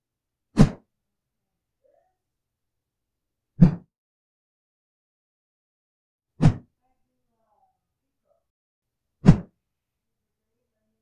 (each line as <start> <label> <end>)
0.6 stick or cane whoosh 0.8
3.6 stick or cane whoosh 3.8
6.4 stick or cane whoosh 6.7
9.2 stick or cane whoosh 9.5